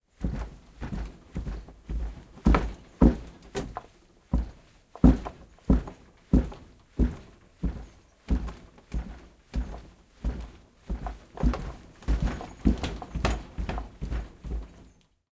big wooden log rolling on a floor 11.0 - 14.9

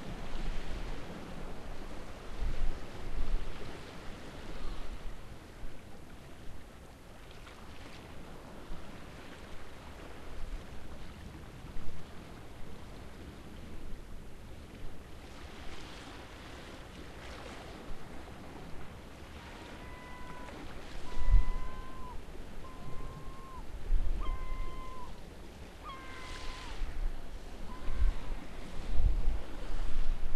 sea 0.0 - 30.3
birds 24.2 - 25.2

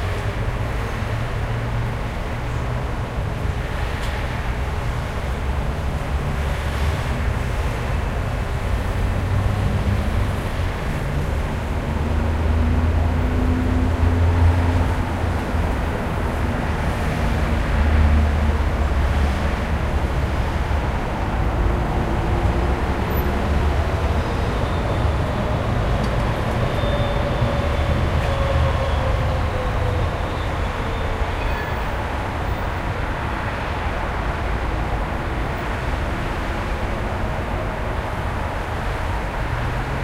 street traffic 0.0 - 40.0

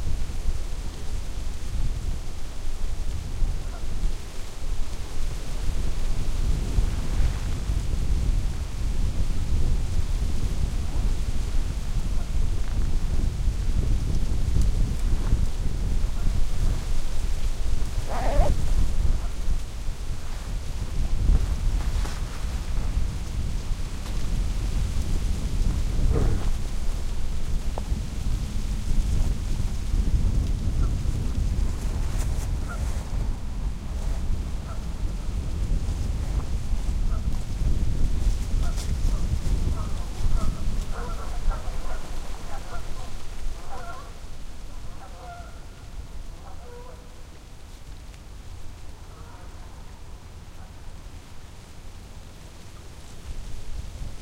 wind hissing through the leaves 0.0 - 54.2
geese in the distance 3.6 - 3.9
geese in the distance 17.8 - 19.7
geese in the distance 32.4 - 33.1
geese in the distance 34.0 - 35.3
geese in the distance 37.0 - 37.3
geese in the distance 38.6 - 47.3
geese in the distance 48.7 - 53.0

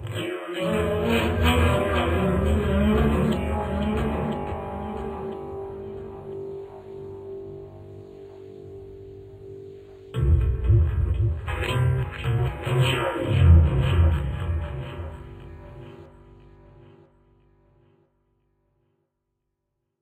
mic scraping on guitar strings 0.1 - 6.8

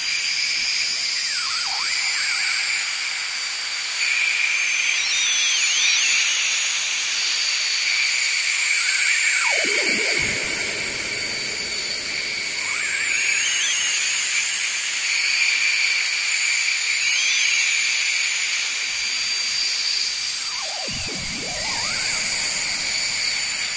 ambient space drone 0.0 - 23.7
Whistling birds with added space effects 3.9 - 6.4
Whistling birds with added space effects 8.7 - 18.6
Whistling birds with added space effects 19.6 - 23.7

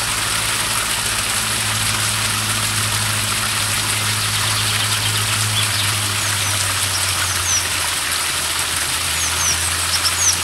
Water 0.0 - 10.4
singing chaffinch 4.1 - 7.8
singing chaffinch 9.2 - 10.4

